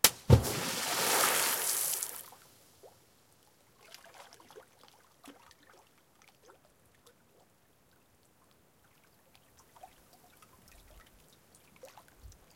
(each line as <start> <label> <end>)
0.0 Tossing rocks into a high mountain lake 2.3